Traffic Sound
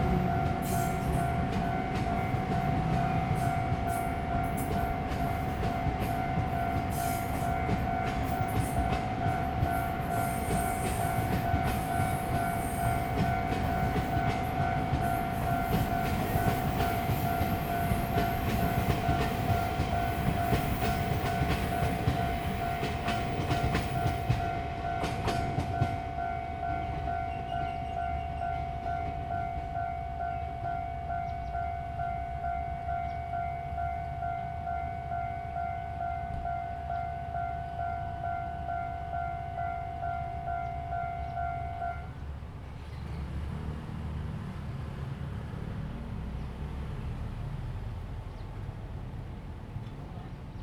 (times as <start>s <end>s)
40.0s 50.6s